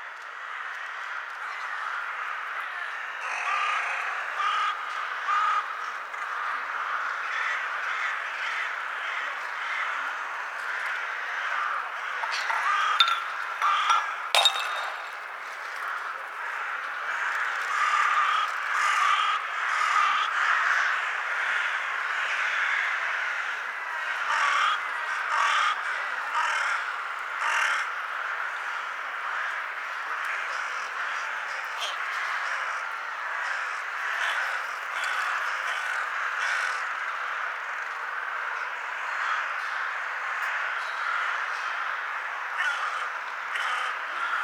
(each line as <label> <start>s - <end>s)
CROWS 0.0s - 44.4s
BIRDSONG 9.5s - 16.1s